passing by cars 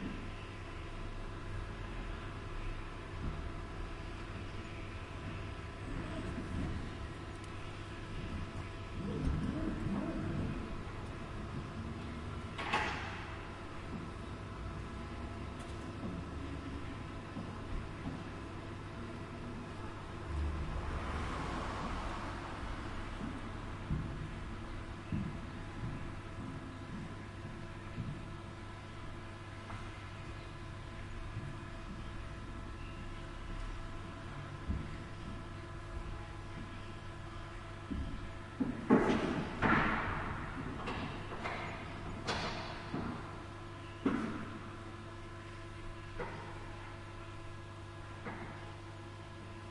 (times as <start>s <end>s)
20.3s 23.8s